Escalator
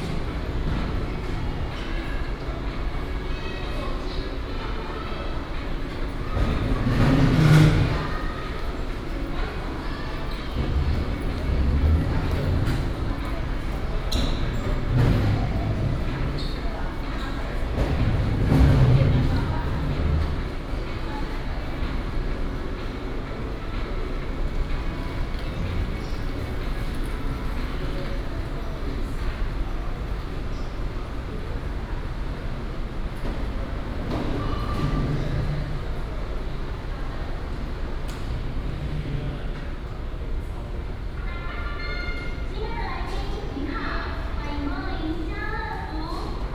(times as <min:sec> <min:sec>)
0:06.2 0:08.6, 0:10.2 0:20.9